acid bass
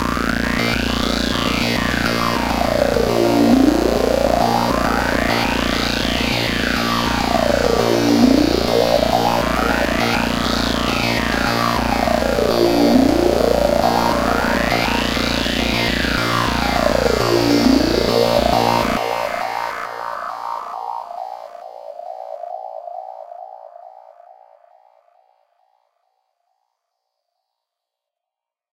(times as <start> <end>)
0.0 19.6